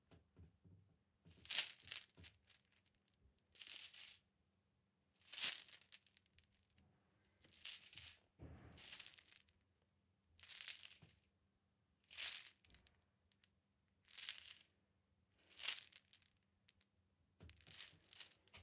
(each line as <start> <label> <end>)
1.4 Handling a metal chain 2.6
3.6 Handling a metal chain 4.1
5.3 Handling a metal chain 6.2
7.5 Handling a metal chain 8.2
8.8 Handling a metal chain 9.4
12.2 Handling a metal chain 12.8
14.1 Handling a metal chain 14.6
15.5 Handling a metal chain 16.3
17.6 Handling a metal chain 18.6